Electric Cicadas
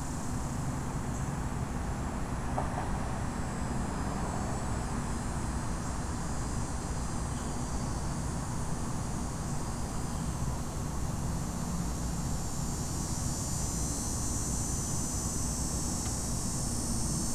8.9s 17.3s

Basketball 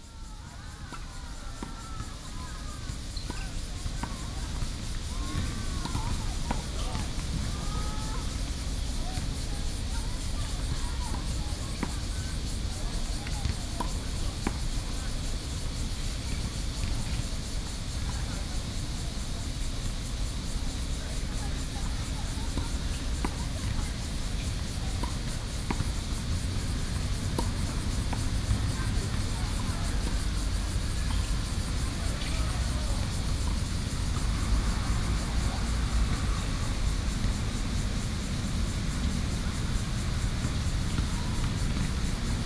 0.8s 9.2s, 21.4s 37.5s, 38.8s 42.3s

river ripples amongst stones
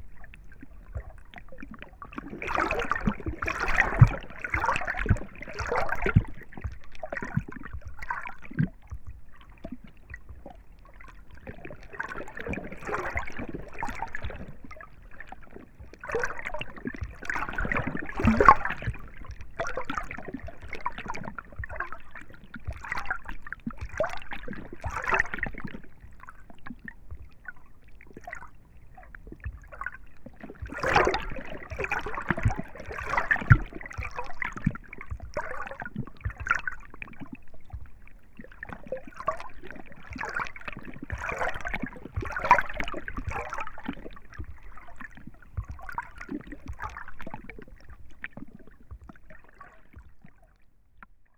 29.5s 49.7s

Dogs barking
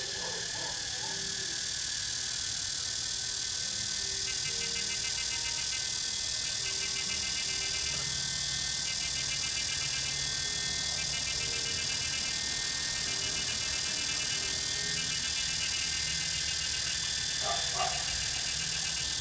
0.0s 1.3s, 17.4s 18.4s

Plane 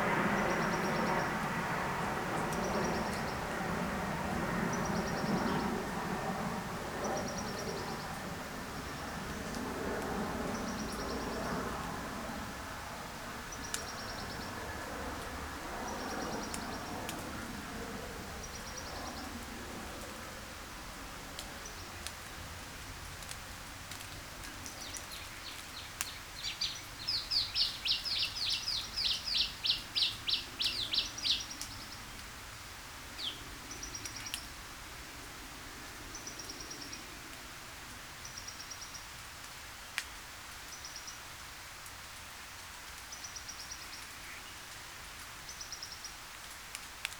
0.0s 26.2s

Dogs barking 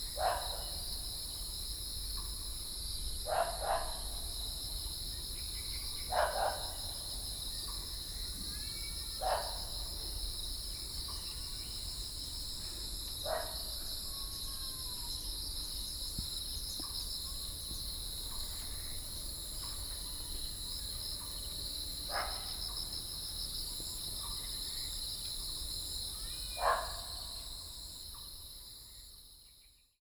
0.2s 0.8s, 3.3s 4.1s, 6.1s 6.8s, 9.2s 9.8s, 13.3s 13.6s, 22.1s 22.6s, 26.6s 27.3s

